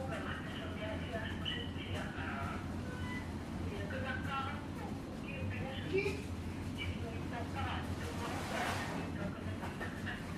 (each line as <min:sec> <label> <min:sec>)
0:06.0 small fish factory 0:10.3